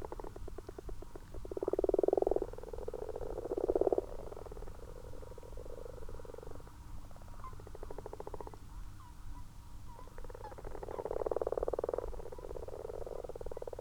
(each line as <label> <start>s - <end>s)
common frogs 0.0s - 13.8s
common toads 0.0s - 13.8s